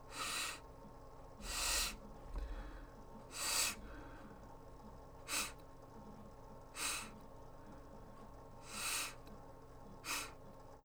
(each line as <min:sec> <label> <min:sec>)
0:00.1 sniff 0:00.6
0:01.4 sniff 0:04.2
0:05.3 sniff 0:05.6
0:06.8 sniff 0:07.2
0:08.6 sniff 0:09.2
0:10.0 sniff 0:10.4